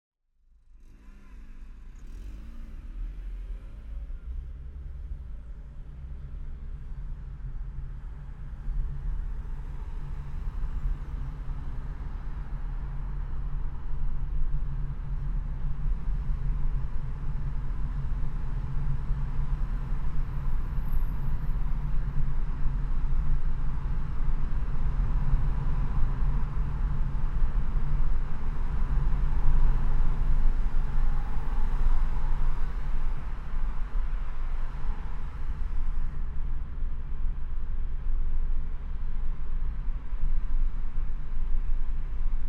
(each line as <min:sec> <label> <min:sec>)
0:00.4 passing under the really noisy bridge 0:42.4
0:00.7 Driving along the IDR 0:42.4
0:00.7 traffic sounds 0:42.4